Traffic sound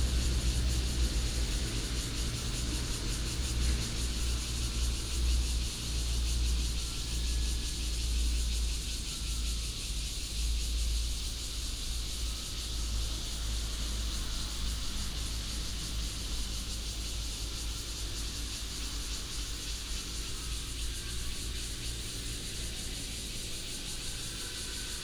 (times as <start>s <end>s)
0.0s 6.6s